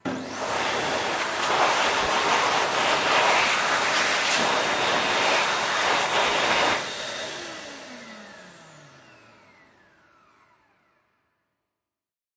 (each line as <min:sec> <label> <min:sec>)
0:00.1 Hand Dryer 6 (hand movement) 0:07.5